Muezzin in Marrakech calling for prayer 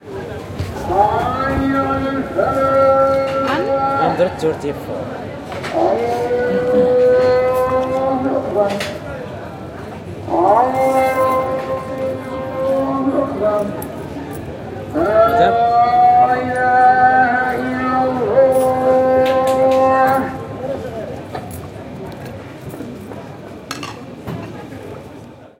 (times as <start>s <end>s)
0.6s 9.1s, 10.3s 14.0s, 14.8s 20.8s